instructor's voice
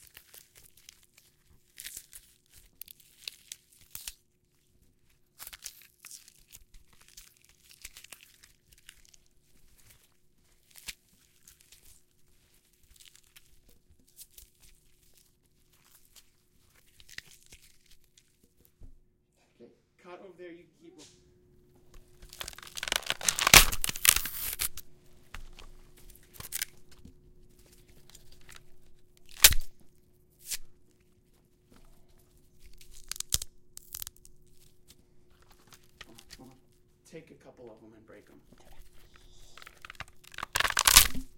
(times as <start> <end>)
19.4 21.2, 37.1 38.5